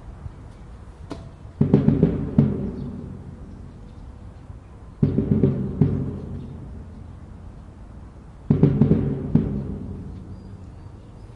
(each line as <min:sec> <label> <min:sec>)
0:00.0 wind 0:11.3
0:00.5 birds 0:11.3
0:01.6 drumming 0:03.9
0:05.0 drumming 0:10.8